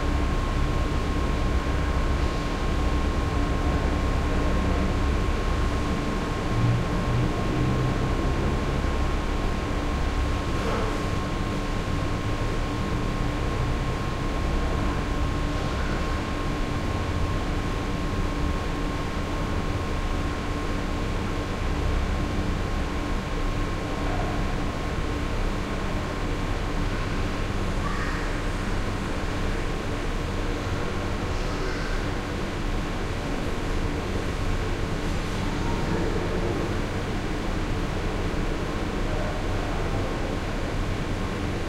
0.0s heavy ventilation hum 41.6s

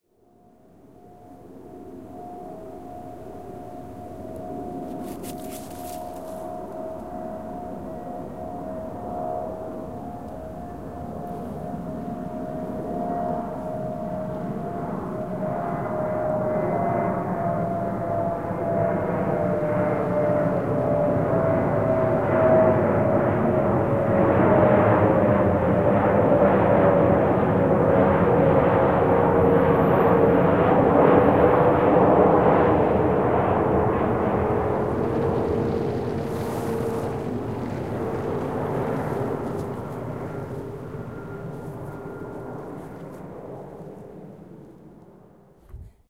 1.4s Plane on descent passing over 46.0s
4.9s dog on the leash 6.4s

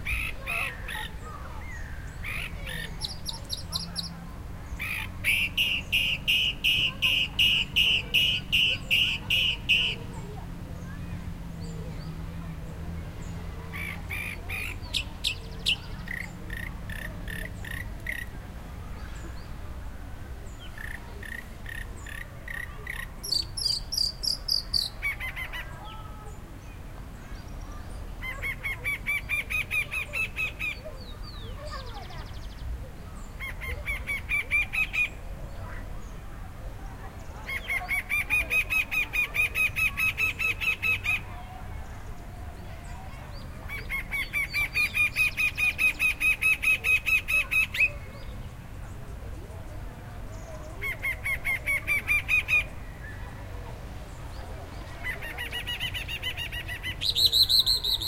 0.0s bird 11.0s
0.0s wind 58.0s
13.2s bird 19.5s
20.5s bird 36.2s
37.1s bird 49.4s
54.3s bird 58.0s

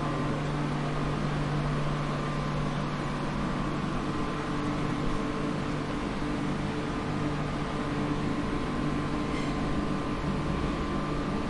0.0s bus 11.4s
9.2s Train 9.6s

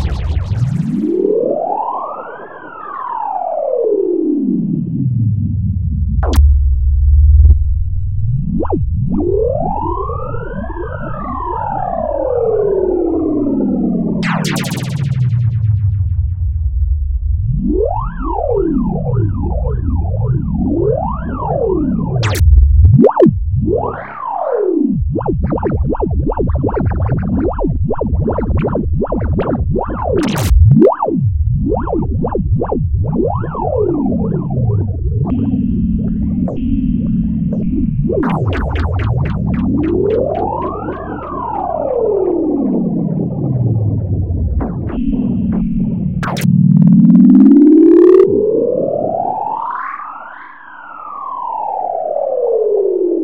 0.0s Synth 3.1s
6.2s Synth 6.7s
14.2s Synth 53.1s

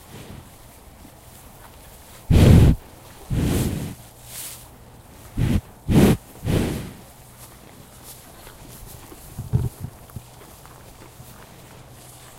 0.0s Cows Chewing 12.3s
9.3s Cows Grunting 10.2s

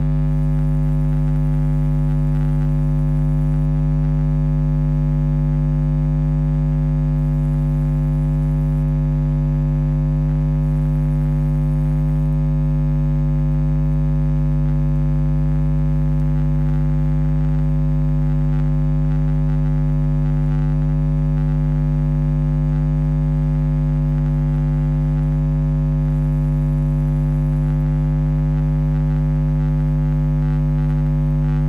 0.0s Electricity 3.7s
29.6s Electricity 31.6s

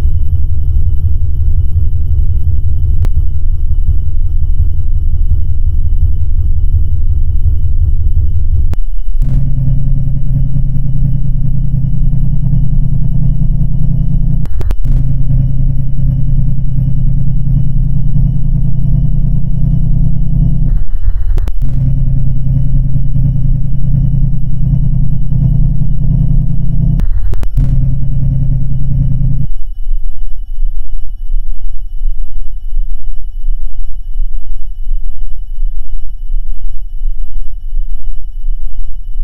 1.8s main Engine 29.5s
6.3s enormous diesel Engines 29.5s

